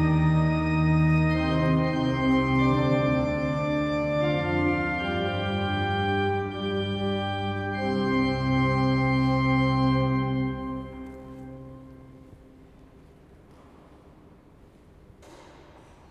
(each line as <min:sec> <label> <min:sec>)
0:00.0 Organ rehearsing 0:12.5